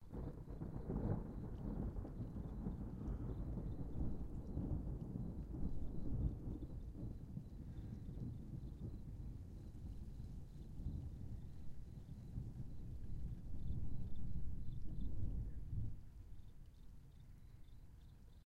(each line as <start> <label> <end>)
0.0 Thunder Long 16.3